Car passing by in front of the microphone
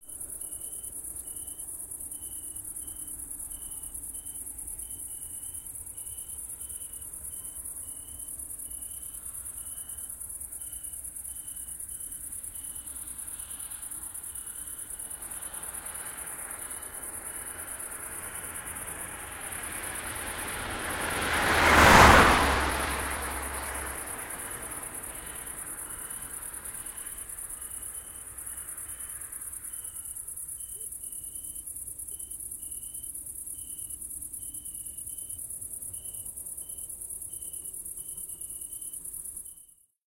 0:11.1 0:30.2

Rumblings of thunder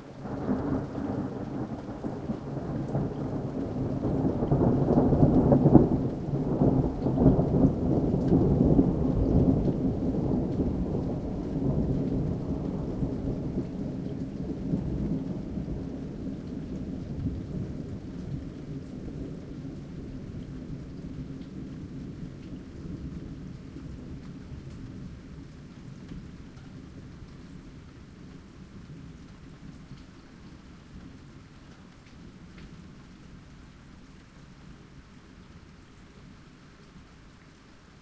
0:00.2 0:24.2

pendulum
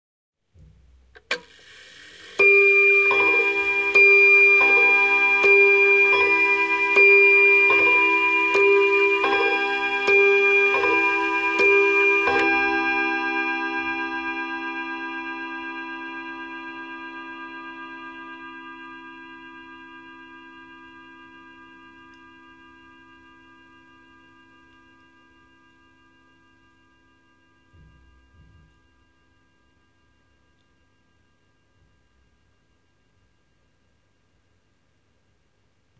0:01.4 0:12.7

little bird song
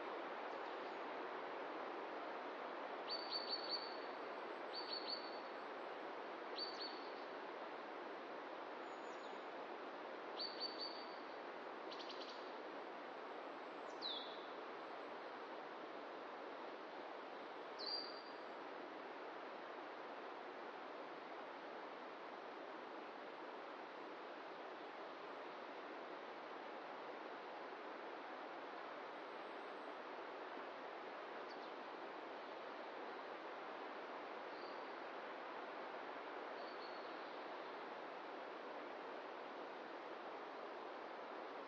0:13.8 0:14.5, 0:17.8 0:18.4, 0:36.5 0:37.6

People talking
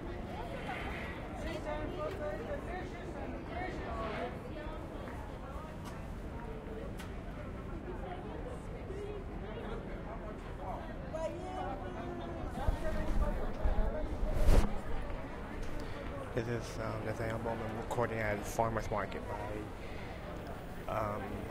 0:07.8 0:19.7, 0:20.3 0:21.5

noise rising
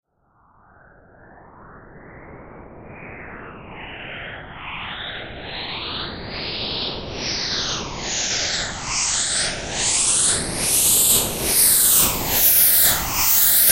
0:09.8 0:13.7

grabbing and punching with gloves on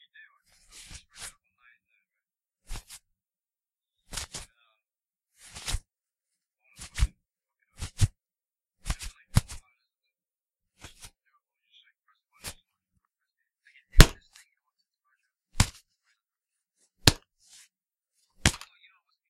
0:14.0 0:14.2, 0:15.6 0:15.8, 0:17.0 0:17.3, 0:18.4 0:18.7

